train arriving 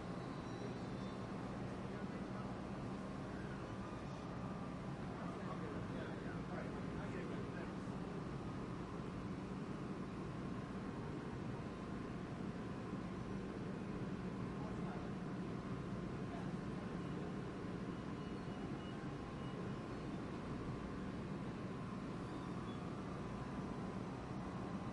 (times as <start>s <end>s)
0.0s 9.8s